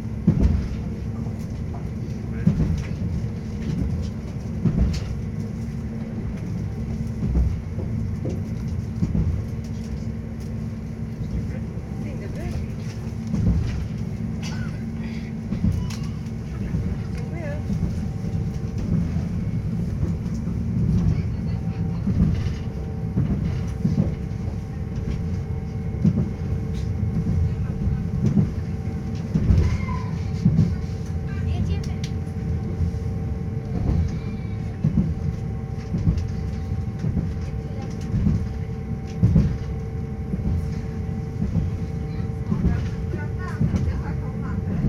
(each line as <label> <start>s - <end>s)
train ride 0.0s - 44.8s